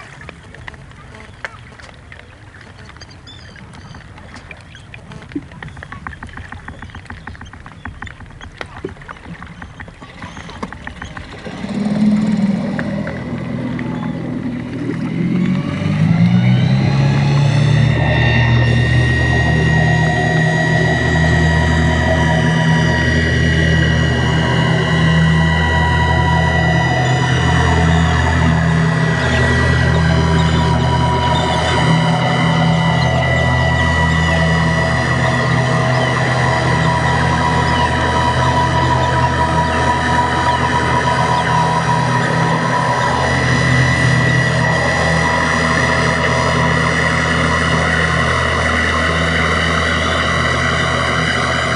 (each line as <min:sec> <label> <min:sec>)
0:00.0 Birds 0:15.6
0:00.0 Propellers 0:51.7